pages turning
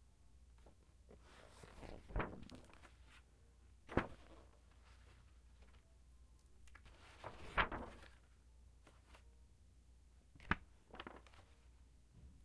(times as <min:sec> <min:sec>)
0:00.6 0:03.2, 0:03.9 0:05.8, 0:06.7 0:09.3, 0:10.4 0:11.7